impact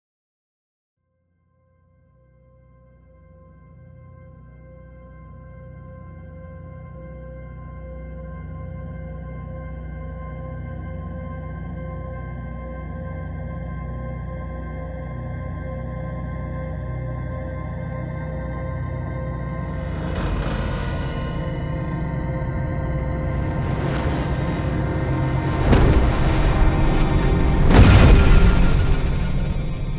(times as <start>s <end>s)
19.2s 29.9s